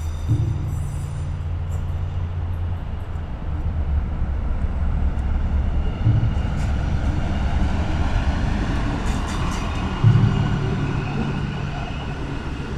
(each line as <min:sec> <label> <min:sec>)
0:00.0 mallet & Drum sticks 0:01.4
0:06.0 mallet & Drum sticks 0:07.2